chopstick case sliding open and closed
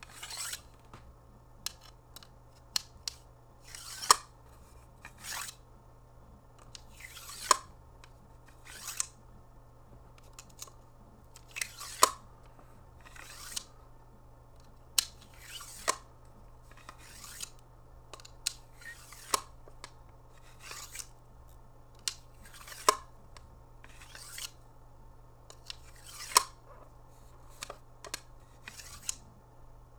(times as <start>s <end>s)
0.0s 0.8s, 5.0s 5.6s, 22.1s 23.1s, 23.9s 24.6s, 25.5s 26.6s, 27.3s 29.2s